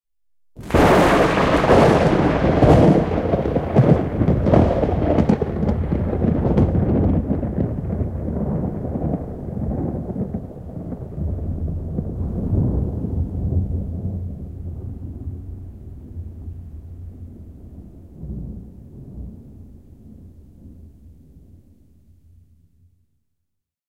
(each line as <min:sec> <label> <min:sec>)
0:00.6 a strong lightning strike 0:14.9